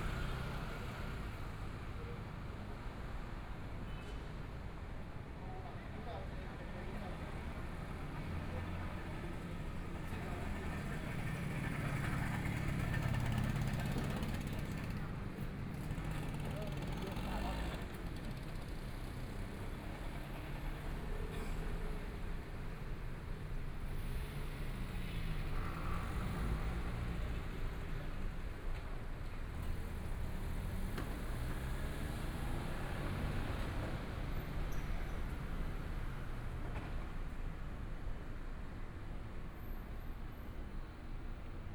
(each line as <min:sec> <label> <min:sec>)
0:00.0 Traffic Sound 0:41.7
0:10.6 Motorcycle sound 0:19.0